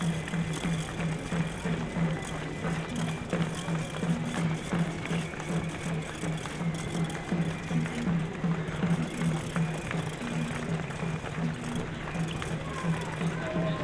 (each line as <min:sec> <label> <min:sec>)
0:00.0 runners 0:13.8